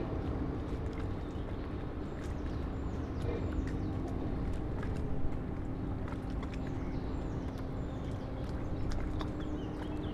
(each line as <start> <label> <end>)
0.0 water 10.1